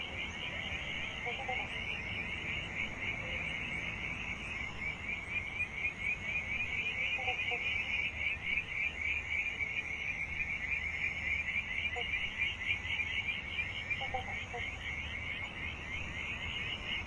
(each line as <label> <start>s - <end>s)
Frogs 0.0s - 17.0s
Insects 0.0s - 17.0s
cars 0.0s - 17.0s